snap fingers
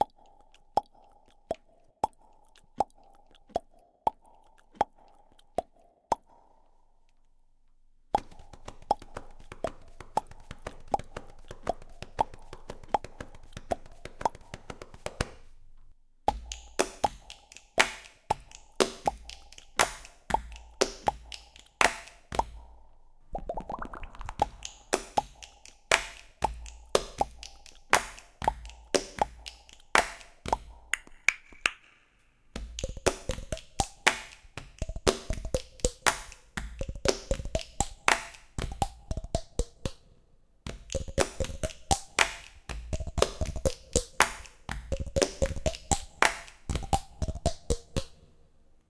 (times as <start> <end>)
8.2 15.5, 16.3 22.7, 24.3 40.0, 40.7 48.3